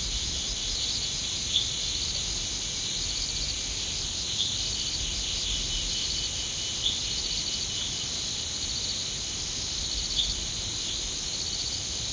Crickets 0.0 - 12.1

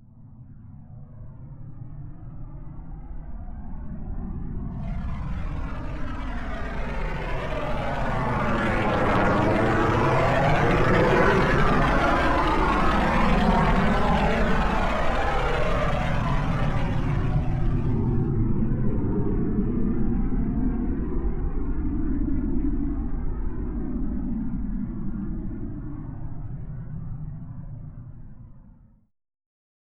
rocket sound 4.8 - 18.3

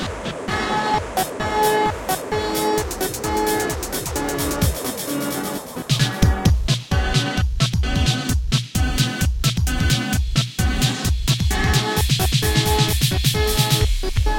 synth 0.0 - 8.3
Gated beat highly filtered 0.0 - 14.3

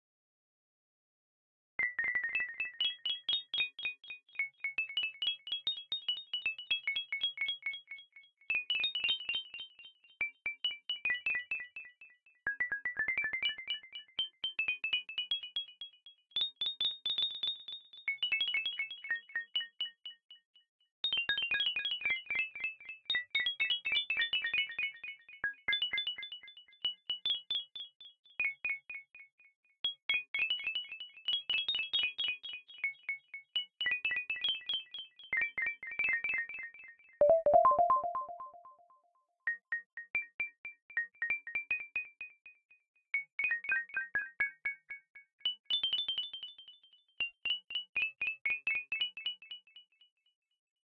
synth 37.2 - 38.7

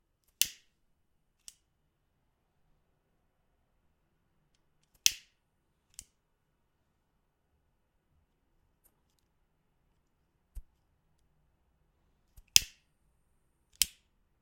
Clicks of the cigarette lighter 13.7 - 14.0

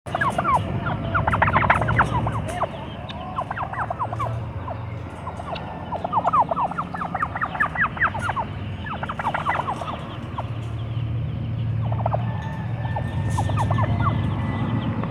Two Turkeys Yelping, Close Perspective 0.1 - 15.1

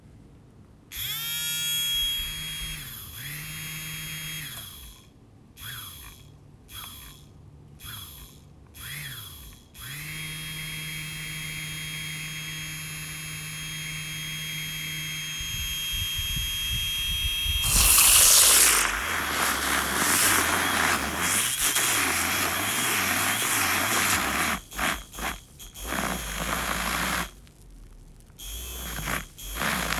Milk frother run 2.1 - 6.2
Milk frother run 6.8 - 7.2
Milk frother run 7.8 - 29.9
froths milk 17.5 - 29.9

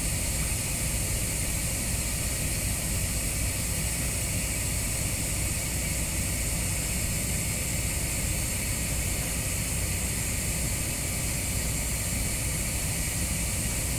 hydralic system in a truck 0.0 - 13.9

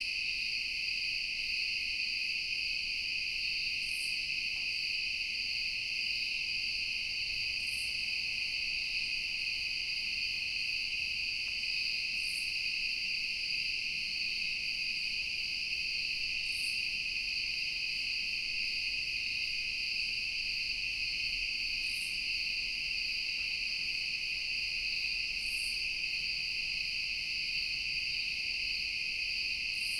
prominent crickets 0.0 - 29.9

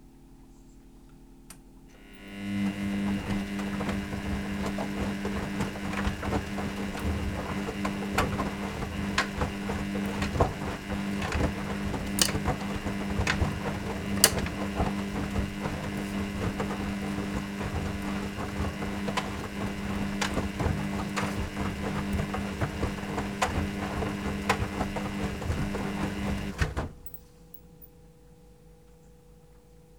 Washing machine 1.5 - 27.6

